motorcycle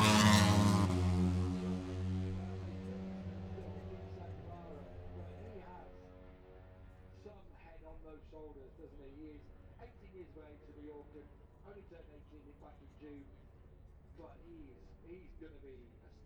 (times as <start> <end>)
0.0 11.4